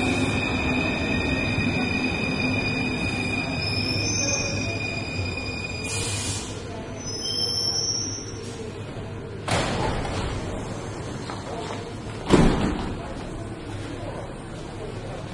trains arriving 0.0 - 9.5
trains leaving 0.0 - 12.3
People talking 0.0 - 15.3
trains arriving 10.1 - 12.3
trains leaving 12.9 - 15.3

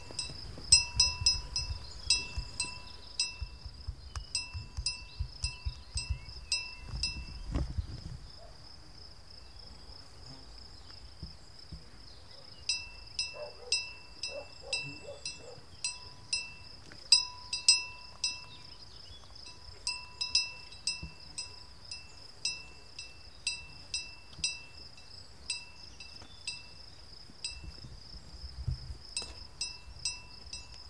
cow's bell 0.0 - 7.4
cow's bell 12.7 - 18.7
cow's bell 19.4 - 26.8
cow's bell 27.4 - 27.8
cow's bell 29.2 - 30.8

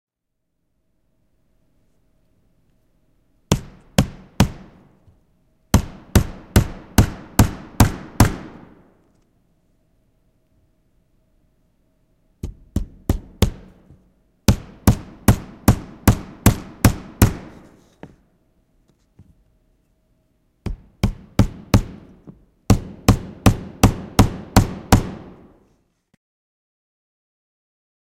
hammer 3.5 - 5.1
hammer 5.7 - 8.8
hammer 12.4 - 18.2
hammer 20.6 - 25.7

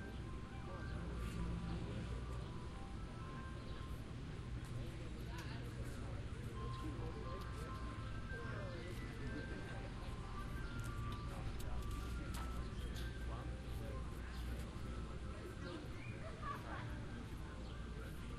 adults talking in the background 0.0 - 18.3

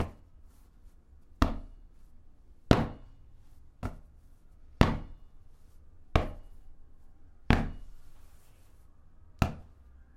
Hitting Ball 1.4 - 1.8
Hitting Ball 2.7 - 3.2
Hitting Ball 4.8 - 5.3
Hitting Ball 6.1 - 6.6
Hitting Ball 7.5 - 8.0
Hitting Ball 9.4 - 9.8

